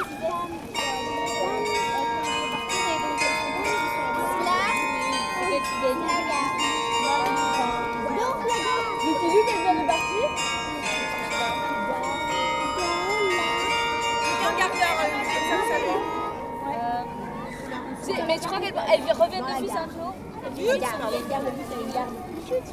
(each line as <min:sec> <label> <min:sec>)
0:00.0 Young girl-scouts are playing 0:19.3
0:00.0 chime is ringing 0:19.8